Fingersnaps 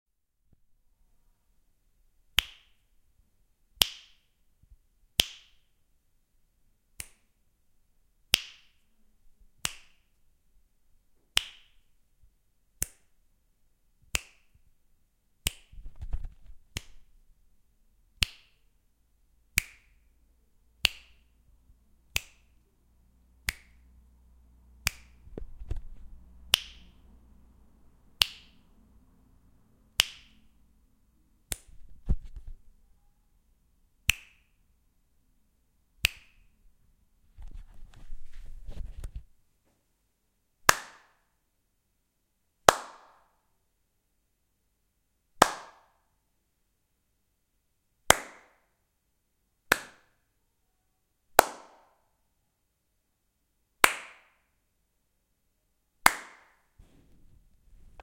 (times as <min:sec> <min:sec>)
0:02.4 0:02.8, 0:07.0 0:07.4, 0:08.3 0:08.8, 0:09.6 0:10.2, 0:11.3 0:11.8, 0:12.8 0:13.1, 0:14.1 0:14.6, 0:15.4 0:17.1, 0:18.2 0:18.7, 0:19.5 0:20.1, 0:20.8 0:21.4, 0:22.0 0:22.6, 0:23.4 0:23.9, 0:24.8 0:27.0, 0:28.2 0:28.7, 0:30.0 0:30.6, 0:31.4 0:32.6, 0:34.0 0:34.6, 0:36.0 0:36.6